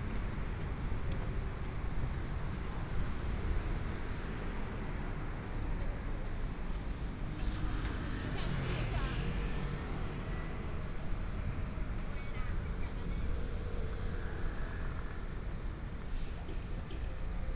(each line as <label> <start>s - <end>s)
Walking in the small streets 0.0s - 17.5s
Traffic Sound 0.1s - 17.5s